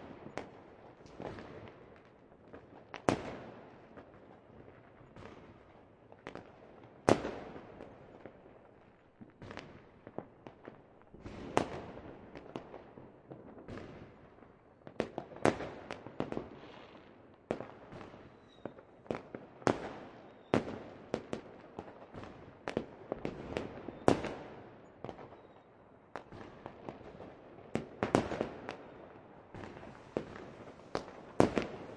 fireworks close launching rocket echoing 0:29.6 - 0:31.9

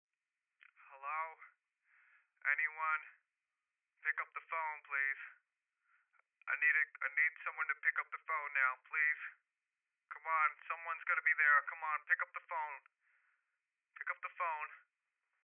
Phone Call Man 0:00.6 - 0:01.6
Phone Call Man 0:02.4 - 0:03.3
Phone Call Man 0:04.0 - 0:05.5
Phone Call Man 0:06.4 - 0:09.5
Phone Call Man 0:10.1 - 0:13.0
Phone Call Man 0:14.0 - 0:14.9

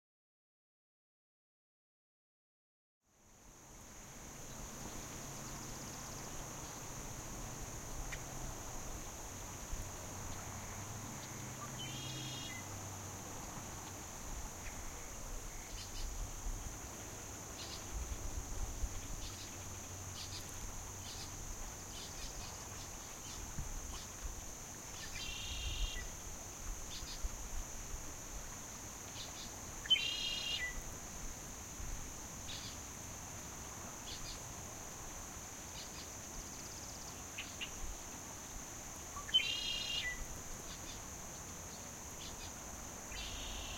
Santa Clara River 0:03.1 - 0:43.7

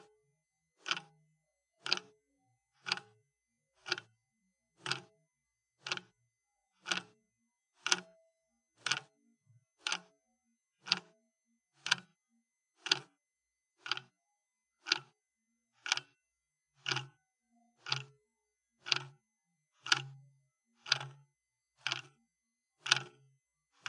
clock mechanism 0:00.8 - 0:01.1
clock mechanism 0:01.8 - 0:02.1
clock mechanism 0:02.8 - 0:03.2
clock mechanism 0:03.8 - 0:04.1
clock mechanism 0:04.8 - 0:05.1
clock mechanism 0:05.8 - 0:06.2
clock mechanism 0:06.8 - 0:07.2
clock mechanism 0:07.8 - 0:08.2
clock mechanism 0:08.8 - 0:09.1
clock mechanism 0:09.8 - 0:10.1
clock mechanism 0:10.8 - 0:11.1
clock mechanism 0:11.8 - 0:12.2
clock mechanism 0:12.8 - 0:13.1
clock mechanism 0:13.8 - 0:14.2
clock mechanism 0:14.8 - 0:15.2
clock mechanism 0:15.8 - 0:16.2
clock mechanism 0:16.8 - 0:17.2
clock mechanism 0:17.8 - 0:18.2
clock mechanism 0:18.8 - 0:19.2
clock mechanism 0:19.8 - 0:20.2
clock mechanism 0:20.8 - 0:21.2
clock mechanism 0:21.8 - 0:22.2
clock mechanism 0:22.8 - 0:23.2

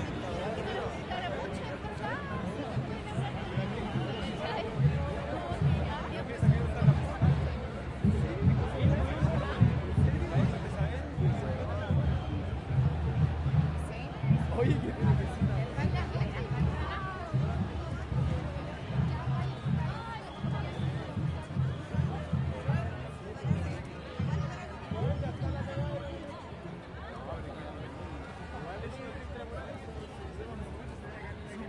crowd 0:00.0 - 0:31.6
drums 0:04.0 - 0:26.0

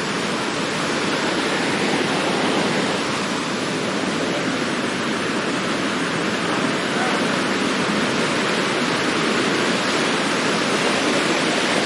waterfall 0:00.0 - 0:11.8
talk 0:06.4 - 0:07.6

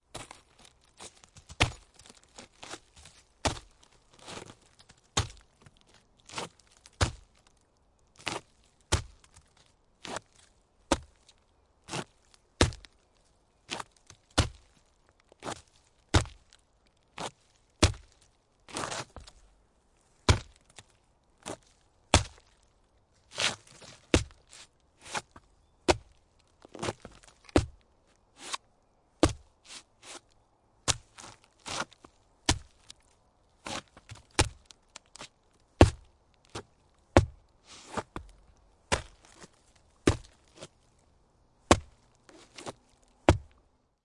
footstep 0:00.1 - 0:16.6
Kicking on stump 0:01.0 - 0:03.7
Kicking on stump 0:04.3 - 0:05.4
Kicking on stump 0:06.4 - 0:07.3
Kicking on stump 0:08.2 - 0:09.4
Kicking on stump 0:10.9 - 0:11.2
Kicking on stump 0:11.9 - 0:13.0
Kicking on stump 0:13.7 - 0:14.7
Kicking on stump 0:15.4 - 0:16.5
footstep 0:17.2 - 0:19.5
Kicking on stump 0:17.2 - 0:19.4
Kicking on stump 0:20.2 - 0:20.8
footstep 0:20.2 - 0:41.1
Kicking on stump 0:21.4 - 0:22.5
Kicking on stump 0:23.4 - 0:24.4
Kicking on stump 0:25.1 - 0:27.8
Kicking on stump 0:29.2 - 0:29.5
Kicking on stump 0:30.9 - 0:32.9
Kicking on stump 0:33.6 - 0:40.7
Kicking on stump 0:41.7 - 0:43.6
footstep 0:41.7 - 0:43.7

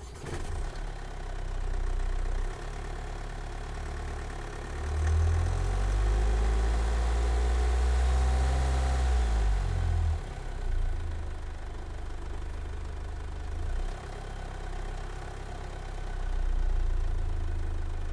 engine 0:00.0 - 0:18.1

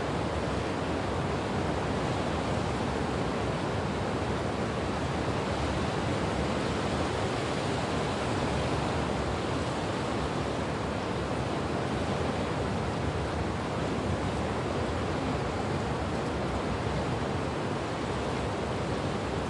Ocean Gentle Lapping Waves Under Dock 0:00.0 - 0:19.4
wind 0:00.0 - 0:19.4

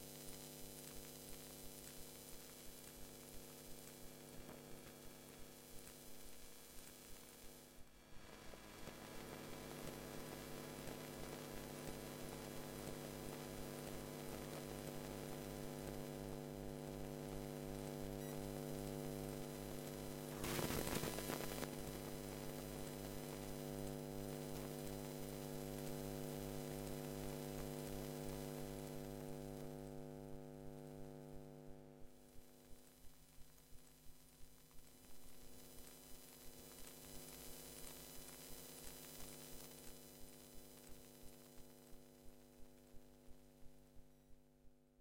Desktop PC I 0:17.9 - 0:31.9

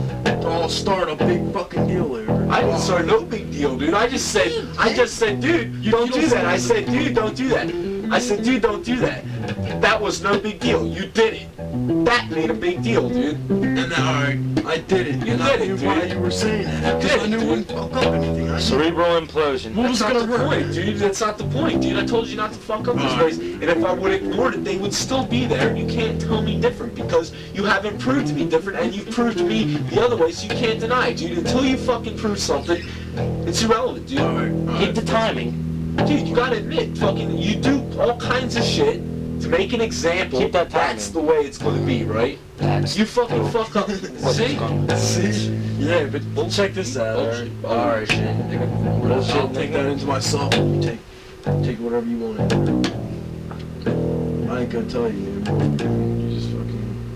argument 0:00.0 - 0:57.1
bass line 0:00.0 - 0:57.1

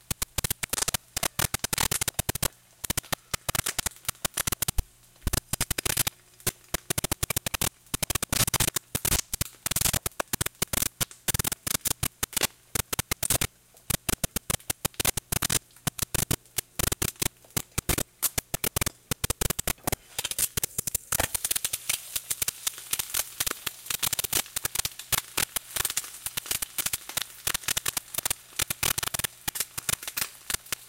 glitch rhythm sequence 0:06.8 - 0:20.0

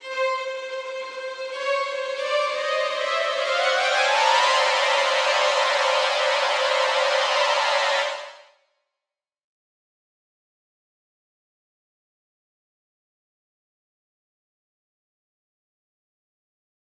viola 0:00.0 - 0:08.5
violin 0:00.0 - 0:08.5

